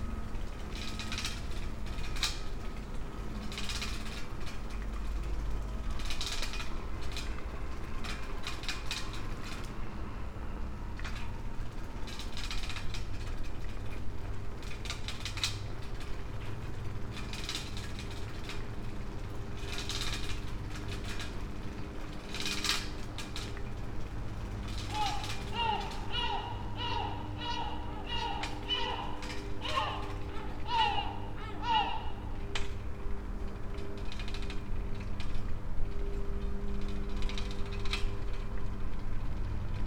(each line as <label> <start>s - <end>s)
air conditioners 0.0s - 39.8s
sea side sounds 24.8s - 32.6s
thousands of birds overnighting on old pine trees 24.8s - 32.6s
seagulls 24.9s - 32.4s